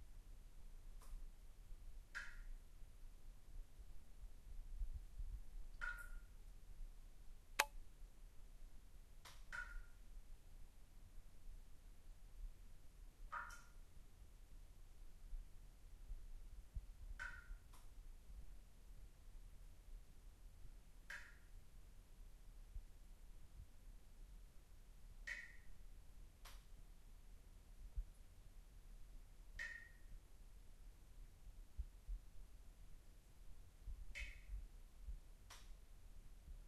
slow-drip of water droplets 2.1 - 2.6
slow-drip of water droplets 5.7 - 6.4
slow-drip of water droplets 9.2 - 10.0
slow-drip of water droplets 13.3 - 13.8
slow-drip of water droplets 21.1 - 21.5
slow-drip of water droplets 25.2 - 25.7
slow-drip of water droplets 29.6 - 30.2

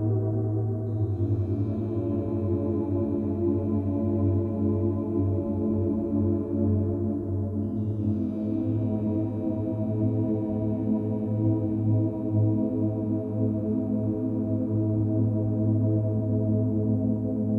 synthesizer 0.0 - 17.5

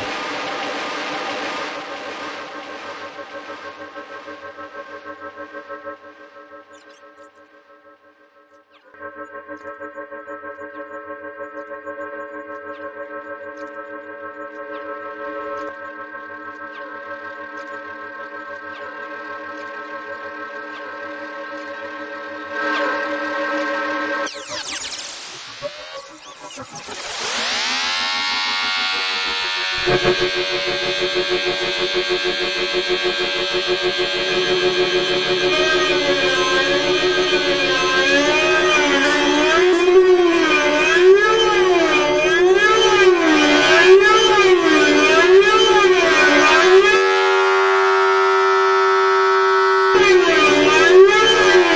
metallic noise drone 0.0 - 7.6
metallic noise drone 24.3 - 51.7
metallic scream 24.3 - 51.7

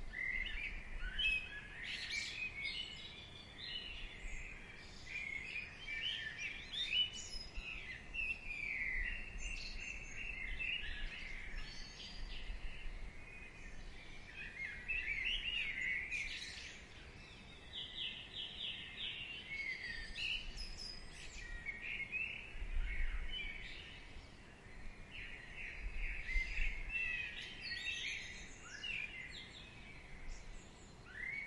birdsong 0.0 - 31.4
slight wind 0.0 - 31.4

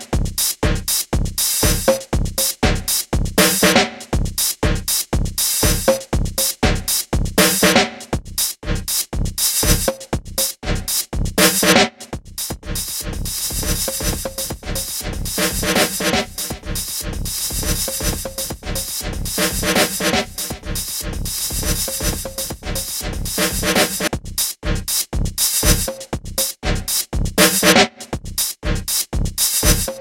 gated drums 12.6 - 24.8

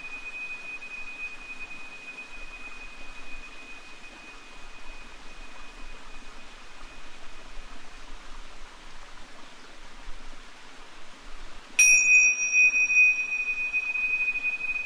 Tibetan tingsha bells rung under vaulted stone bridge 0.0 - 8.2
mountain stream 0.0 - 14.8
Tibetan tingsha bells rung under vaulted stone bridge 11.8 - 14.8

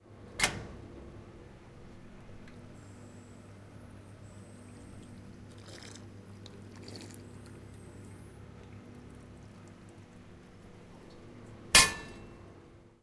water fountain 5.5 - 7.6

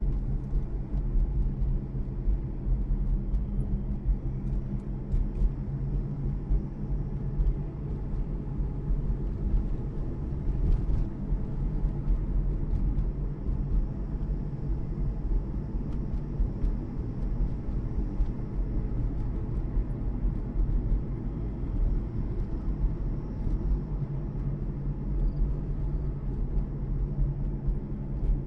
driving car with the windows open on a bumpy but paved road 0.0 - 28.4
CRICKET 25.1 - 26.2

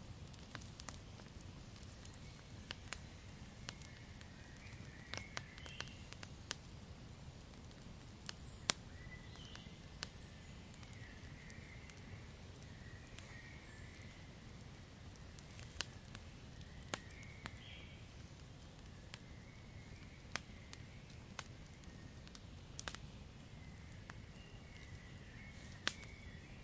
fire / burning wood 0.0 - 26.6
birds 0.3 - 26.6

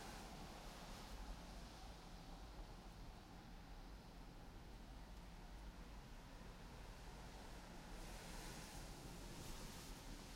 cars drive by on the wet road 0.0 - 10.3

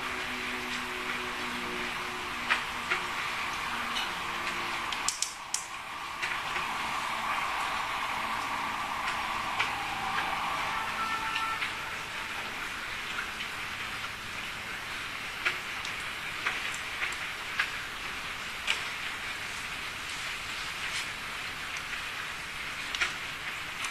ambulance 0.0 - 14.3
city noise 0.0 - 23.9
rain 0.0 - 23.9

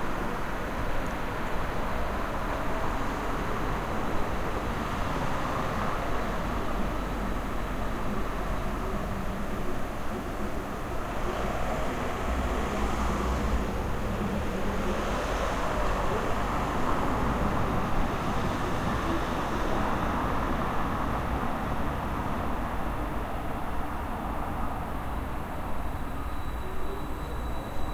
Traffic 0.0 - 27.9
elektrotram 0.0 - 27.9

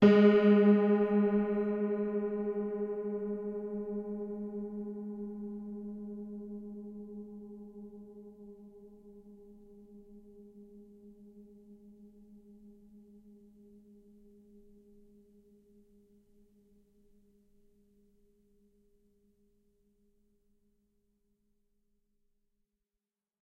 piano 0.0 - 8.6

